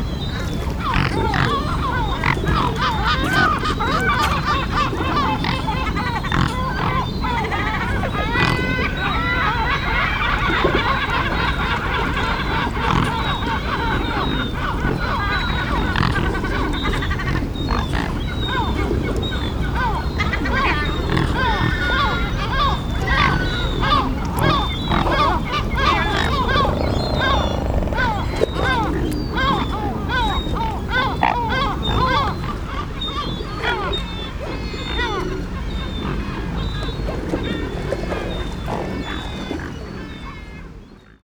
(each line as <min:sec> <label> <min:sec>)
0:00.0 Gulls 0:40.8
0:00.1 Swans 0:41.2